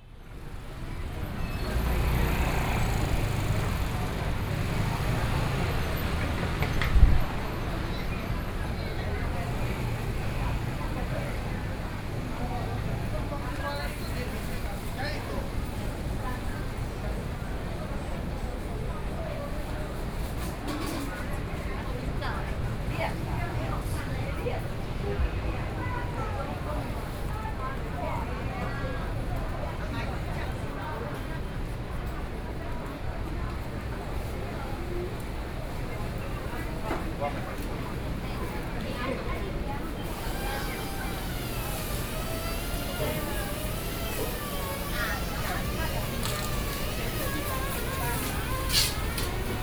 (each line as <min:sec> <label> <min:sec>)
0:00.0 Walking through the traditional market 0:49.6
0:00.3 Traffic Sound 0:13.5
0:33.8 Traffic Sound 0:49.6